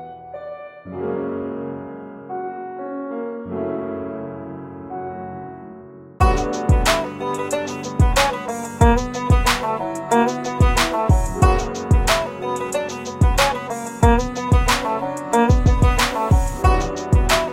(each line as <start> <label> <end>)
0.0 Piano 17.5
6.2 Beat 17.5
6.2 Guitar 17.5